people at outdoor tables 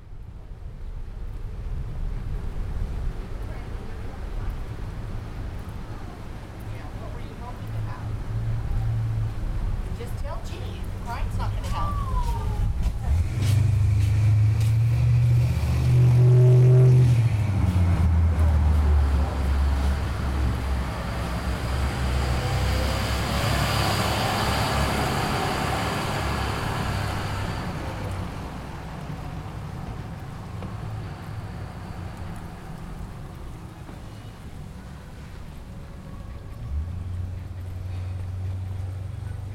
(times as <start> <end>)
2.8 21.8, 32.1 39.5